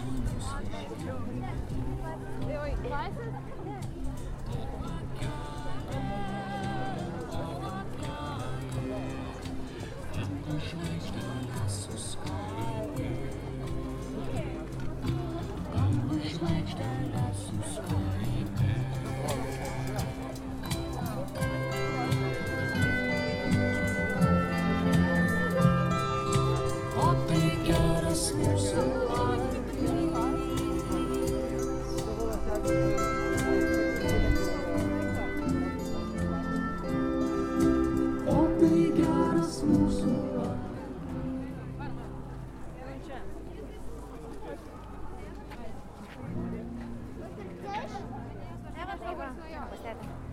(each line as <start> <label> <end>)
0.0 crowd noise 50.3
0.0 street music 50.3
38.2 young people start singing 41.4